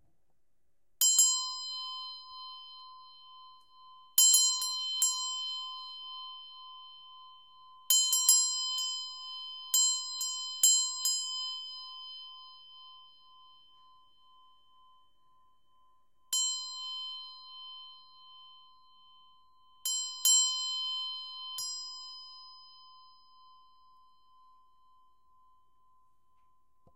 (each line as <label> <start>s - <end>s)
Korean Bell 1.0s - 26.9s